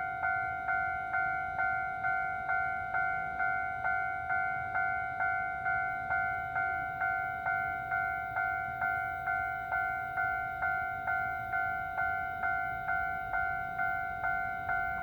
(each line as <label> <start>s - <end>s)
The train runs through 0.0s - 15.0s